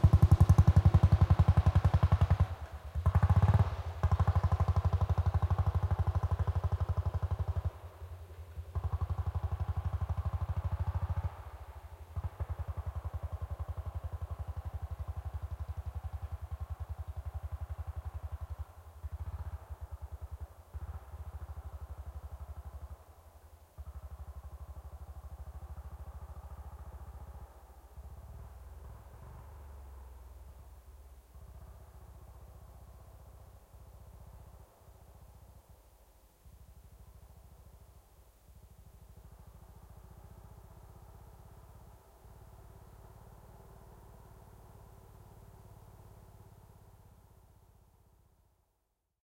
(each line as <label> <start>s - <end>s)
old motorbike, passing by slowly 0.0s - 48.9s